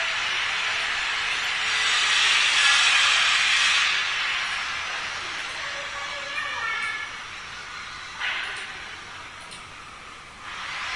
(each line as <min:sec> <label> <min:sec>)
0:04.4 squealing of children playing on the courtyard 0:09.8